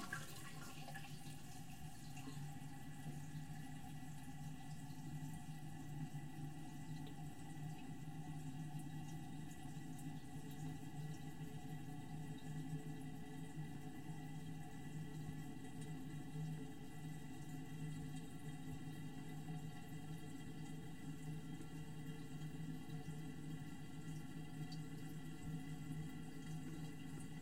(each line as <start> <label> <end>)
0.0 normal flush 27.4